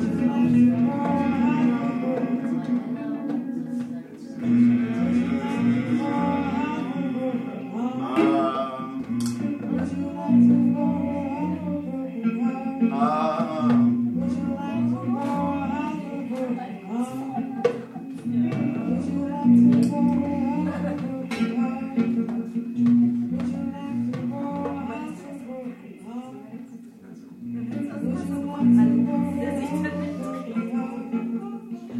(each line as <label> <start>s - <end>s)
drums 0.0s - 12.0s
jam session 0.0s - 26.0s
guitar 0.0s - 31.9s
drums 13.4s - 25.4s
drums 27.4s - 31.4s